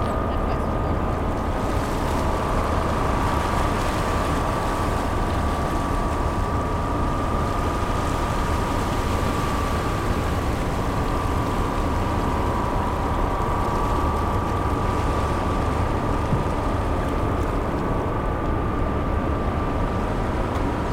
0.0s Motors from the ferry 20.9s

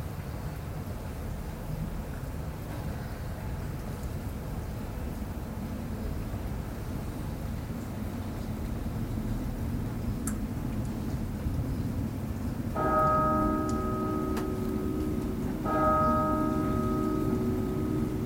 0.0s rain 18.2s
12.7s church bell 18.2s

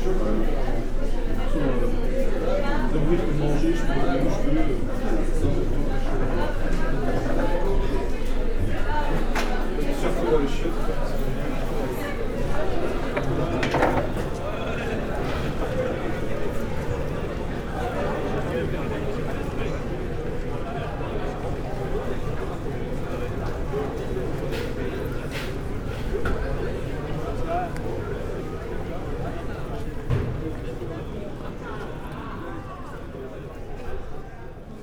0.0s people waiting 34.8s

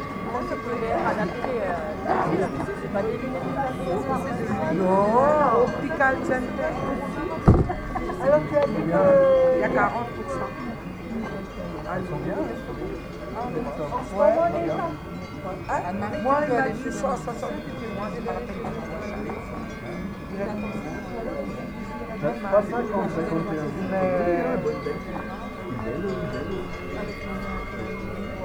0.0s unterhaltung 28.4s

